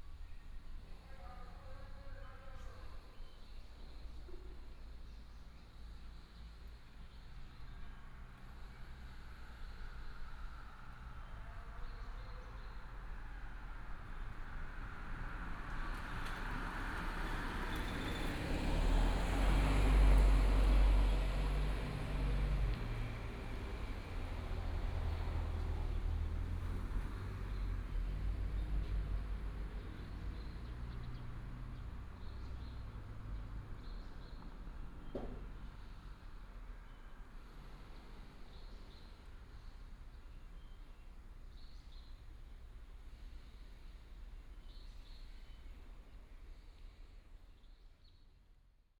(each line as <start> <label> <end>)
5.5 traffic sound 41.5